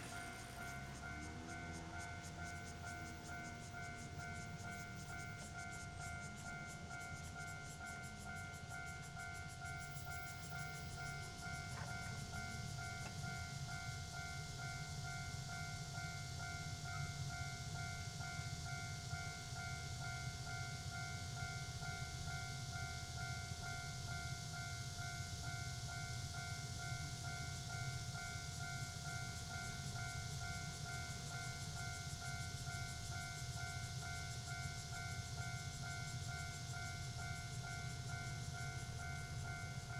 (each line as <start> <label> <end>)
0.0 Traffic sound 5.4
0.0 Cicada cry 39.9
0.0 Railway level crossing 39.9
0.0 The train runs through 39.9